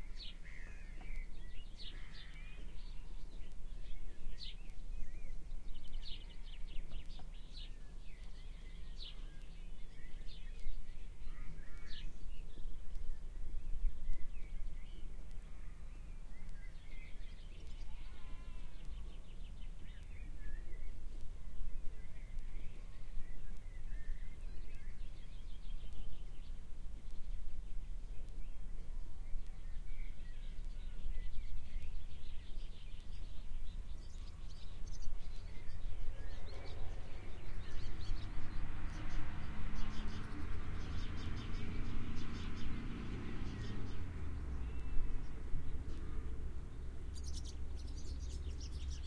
sheep 0:17.8 - 0:19.1
cows 0:17.8 - 0:19.0

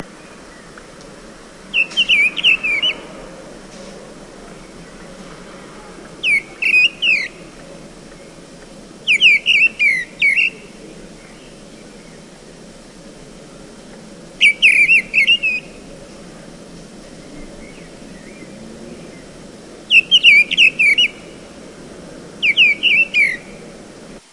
birdsong 0:00.0 - 0:24.3

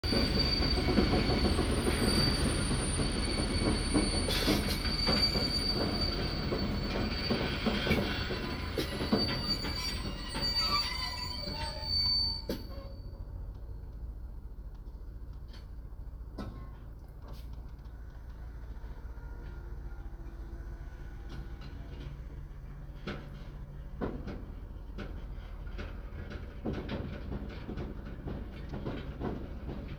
Train passing 0:18.0 - 0:26.1

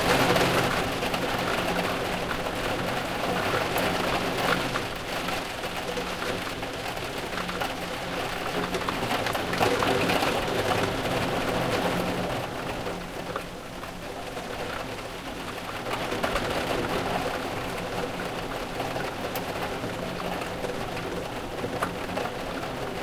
rain on a window 0:00.0 - 0:23.0

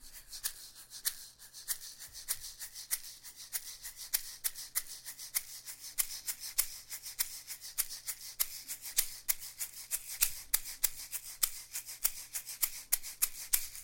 groove done on an egg shaker with a closed hand 0:00.0 - 0:13.8

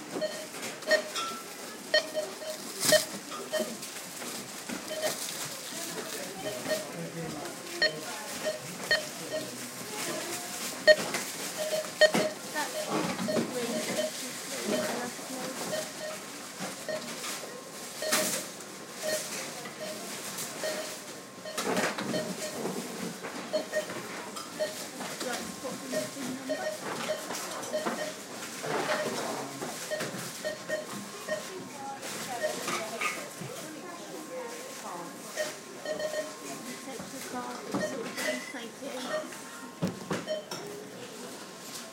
Beeps from several barcode readers 0:00.1 - 0:03.9
Voices 0:00.2 - 0:41.6
Beeps from several barcode readers 0:04.8 - 0:05.4
Beeps from several barcode readers 0:06.3 - 0:07.0
Beeps from several barcode readers 0:07.7 - 0:10.2
Beeps from several barcode readers 0:10.8 - 0:17.4
Beeps from several barcode readers 0:18.0 - 0:22.7
Beeps from several barcode readers 0:23.5 - 0:31.6
Beeps from several barcode readers 0:32.2 - 0:32.8
Beeps from several barcode readers 0:35.3 - 0:39.4
Beeps from several barcode readers 0:40.2 - 0:40.6

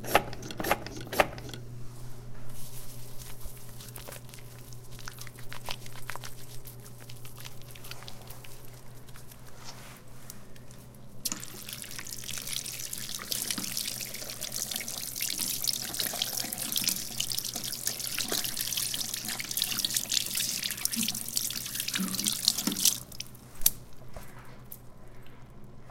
flush 0:11.3 - 0:23.4

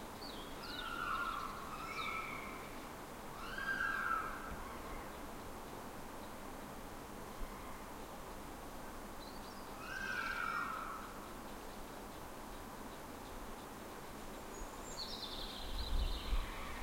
Foxes crying 0:00.7 - 0:02.7
Foxes crying 0:03.4 - 0:05.1
Foxes crying 0:09.8 - 0:11.2

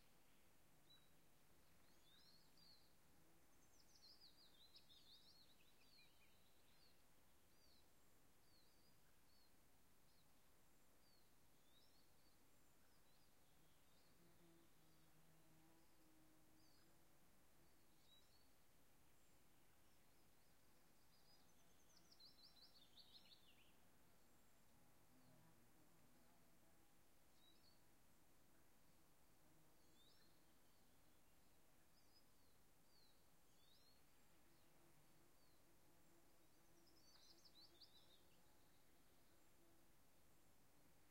birds 0:00.0 - 0:41.1

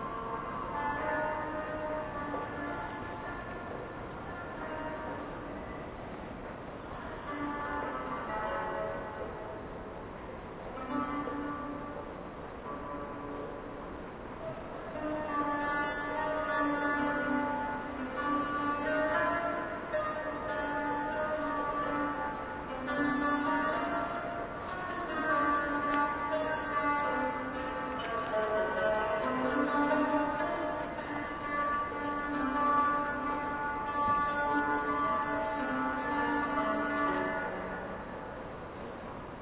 train 0:00.0 - 0:17.0
Strings 0:00.0 - 0:39.4

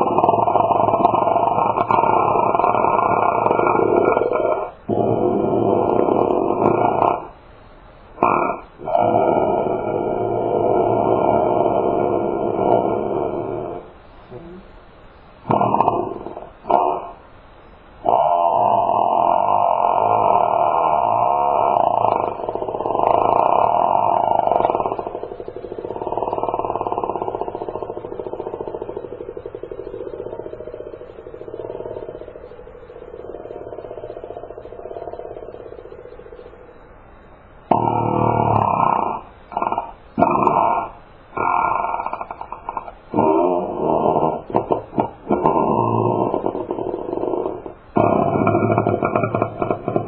farts 0:15.5 - 0:17.2
farts 0:18.1 - 0:32.3
farts 0:37.7 - 0:50.0

